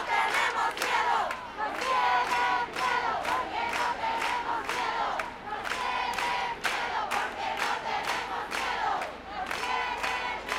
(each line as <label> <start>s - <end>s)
voices 0.0s - 10.5s